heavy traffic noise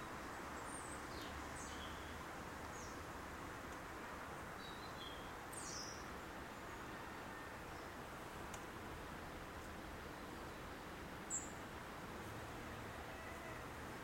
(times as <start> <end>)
7.6 14.0